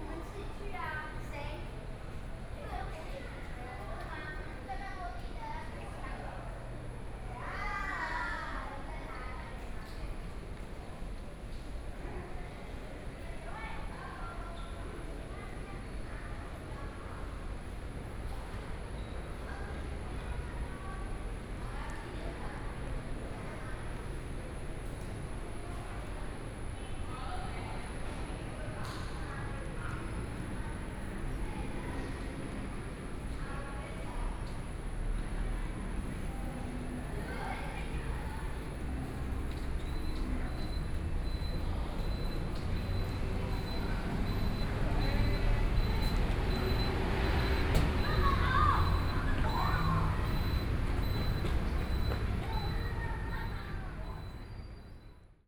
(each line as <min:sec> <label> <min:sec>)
0:27.9 Walking through the bazaar 0:55.3